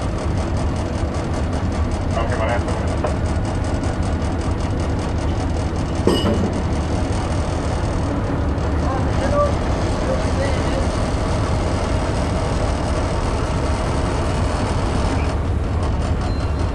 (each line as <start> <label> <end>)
0.0 Fisherboats leaving the lock 16.7
0.0 engine noises 16.7
2.1 vhf radio comms 3.2